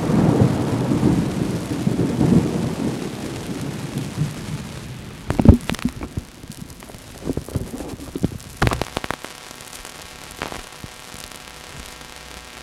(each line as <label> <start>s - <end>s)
Thunder 0.0s - 6.3s
Bad microphone connection - pops - buzzes 3.8s - 12.6s